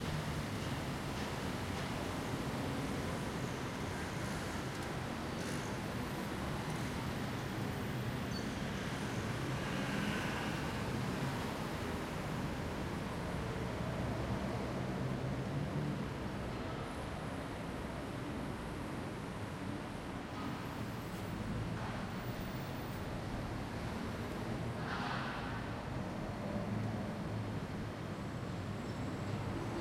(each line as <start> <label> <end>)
0.0 Road Noise 29.8
20.3 Construction 26.2